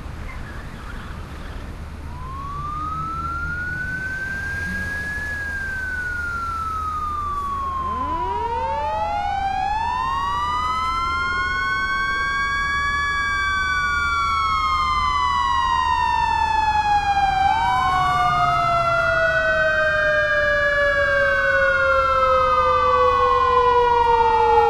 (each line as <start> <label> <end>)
0.0 tires 15.1
0.0 main car traveling sound 24.6
2.0 synth firetruck sound 24.6